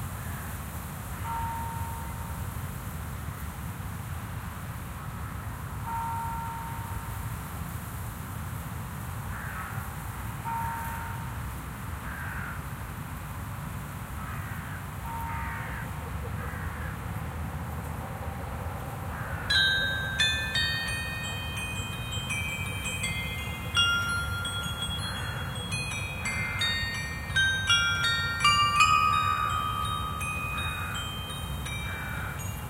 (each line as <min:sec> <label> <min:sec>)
0:00.0 wind 0:32.6
0:01.2 Bells of a Church 0:02.4
0:05.8 Bells of a Church 0:07.2
0:10.4 Bells of a Church 0:11.4
0:19.5 Bells of a Church 0:32.6